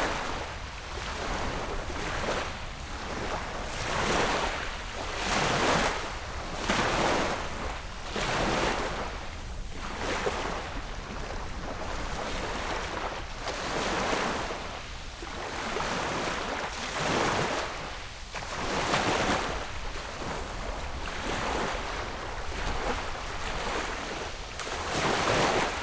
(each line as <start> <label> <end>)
0.0 waves 25.8